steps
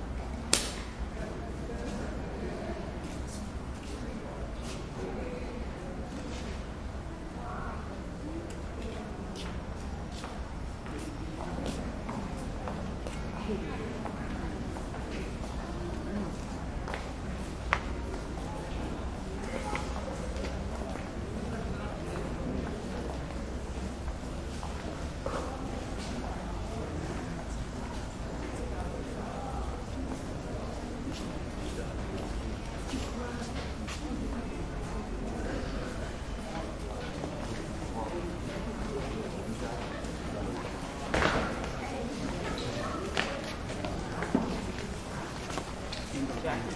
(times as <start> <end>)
38.5 46.7